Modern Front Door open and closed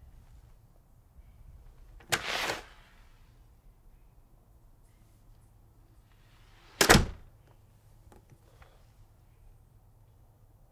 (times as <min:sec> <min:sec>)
0:02.0 0:02.6, 0:06.6 0:07.3